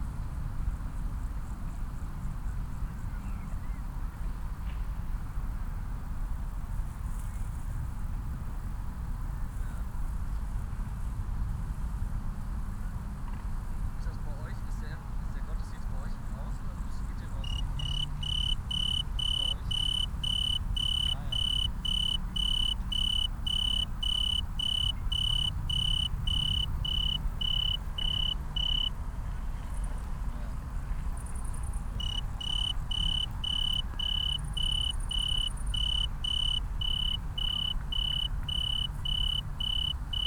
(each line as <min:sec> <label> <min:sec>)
0:17.3 tree cricket 0:29.0
0:31.2 tree cricket 0:40.2